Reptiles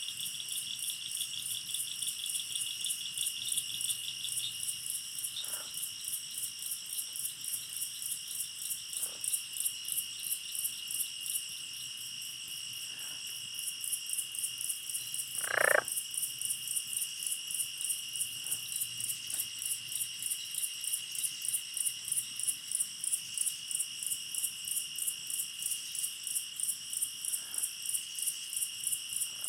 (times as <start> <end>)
15.4 15.9